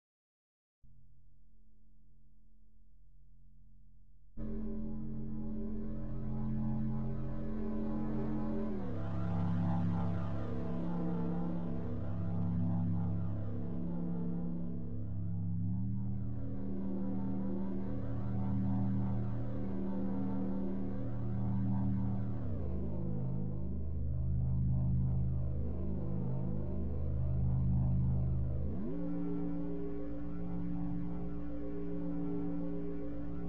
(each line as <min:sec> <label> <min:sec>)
0:04.4 dark drone 0:33.4